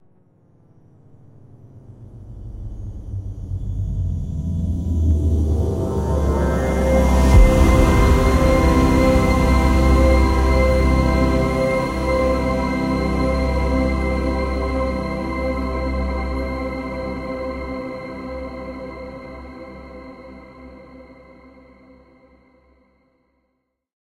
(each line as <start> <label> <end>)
1.6 synth 22.1
2.1 riser/swell 21.6